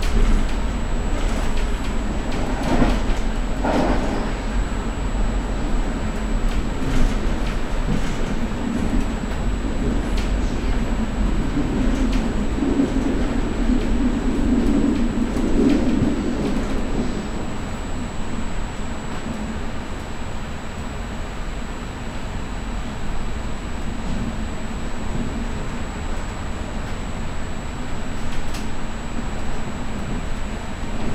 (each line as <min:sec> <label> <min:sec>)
0:00.0 continuous high pitched buzz 0:31.1
0:00.0 smooth ride on a train 0:31.1